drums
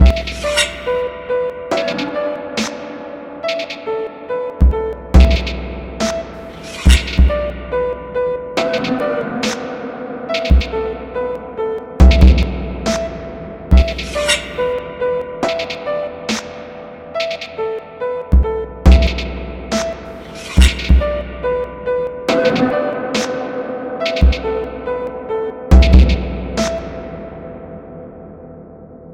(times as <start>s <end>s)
0.0s 0.9s, 4.6s 7.4s, 8.6s 9.7s, 10.4s 10.8s, 12.0s 14.8s, 18.4s 21.2s, 22.3s 24.6s, 25.7s 27.0s